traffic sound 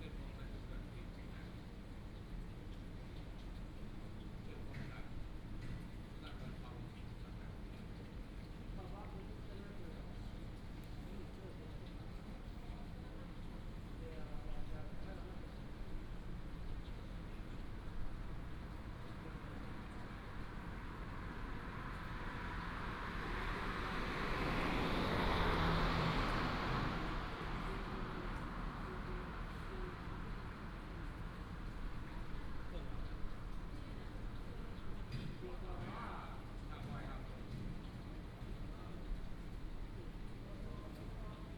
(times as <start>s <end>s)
19.6s 32.6s